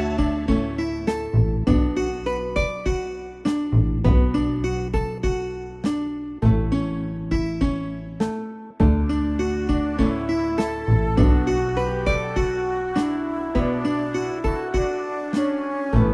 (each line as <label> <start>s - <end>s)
calm melody 0.0s - 16.1s